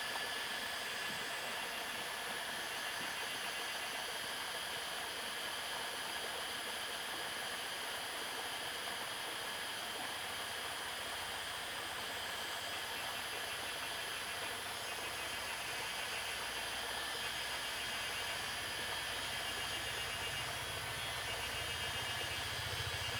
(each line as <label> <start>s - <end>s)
Cicada sounds 12.6s - 23.1s